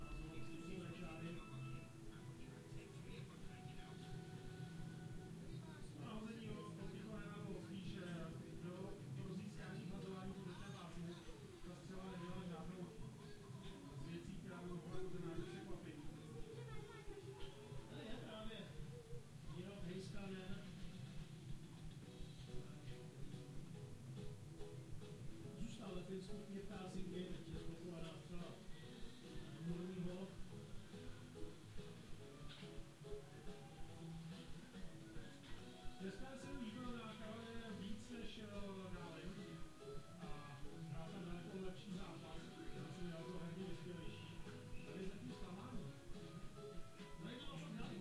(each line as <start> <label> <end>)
0.0 TV playing in the background 48.0